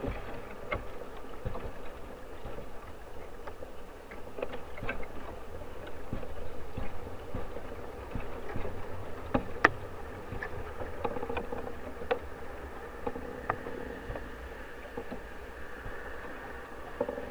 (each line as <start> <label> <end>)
0.0 giant bamboo 17.3